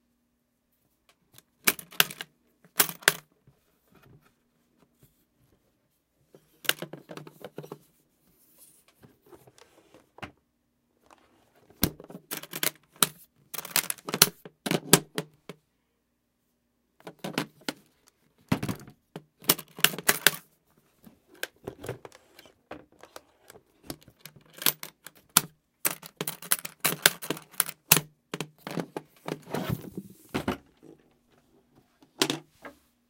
Opening and closing a brief case 0:18.6 - 0:20.4
Opening and closing a brief case 0:21.3 - 0:31.0

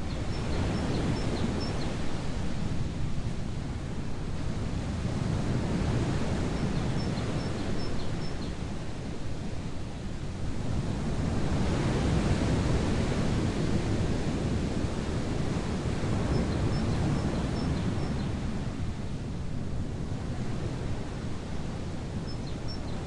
Big waves 0:00.0 - 0:23.0

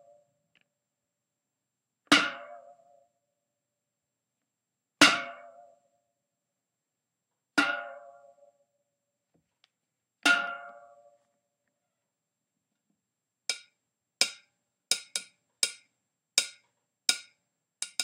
hiting a can with a n input jack 0:13.5 - 0:15.8
hiting a can with a n input jack 0:16.4 - 0:18.0

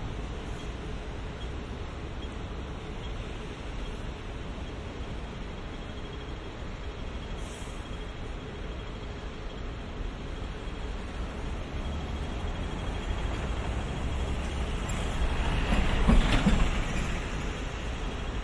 traffic 0:00.0 - 0:18.4

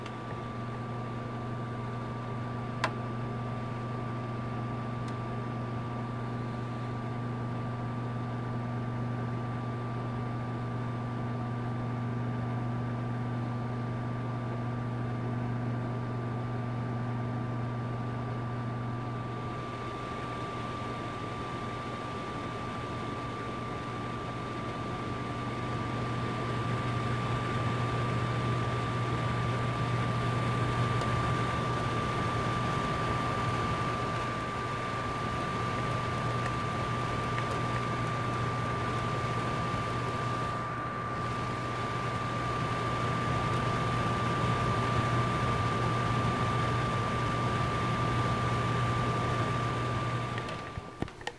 space heater running 0:00.0 - 0:51.3

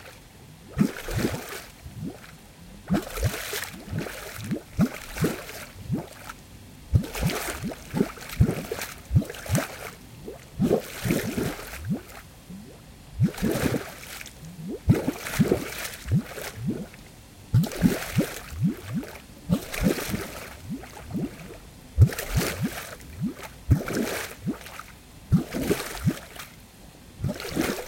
huge bubbles of air bubbling up from within the water 0:00.7 - 0:26.4
huge splashes 0:00.7 - 0:02.3
huge splashes 0:02.9 - 0:10.0
huge splashes 0:13.2 - 0:17.0
huge splashes 0:17.6 - 0:24.8
huge bubbles of air bubbling up from within the water 0:27.2 - 0:27.8

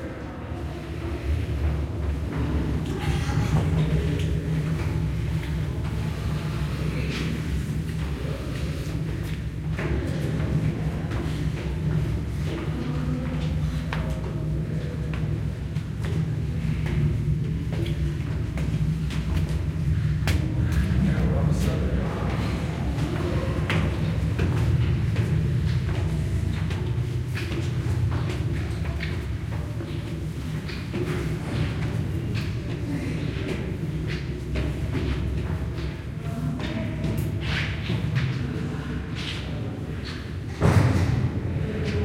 people walking up and down an echoey spiral staircase 0:00.0 - 0:42.0

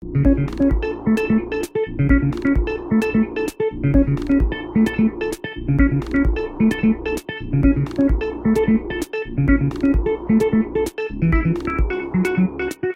electronic music 0:00.0 - 0:12.9

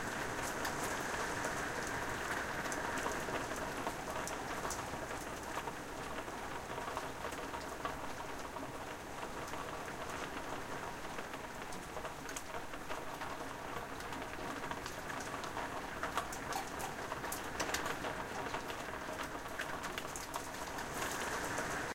medium-strength rain 0:00.0 - 0:21.9

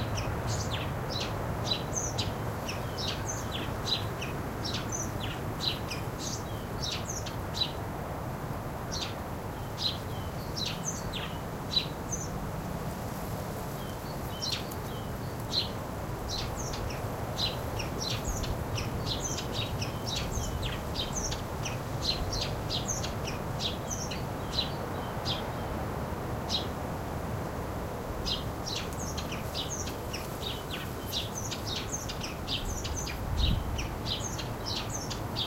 single bird is singing 0:00.0 - 0:07.8
wind 0:00.0 - 0:35.4
single bird is singing 0:08.9 - 0:12.4
bamboo bush weaves in the air 0:11.5 - 0:35.4
single bird is singing 0:13.8 - 0:25.8
single bird is singing 0:28.2 - 0:35.4

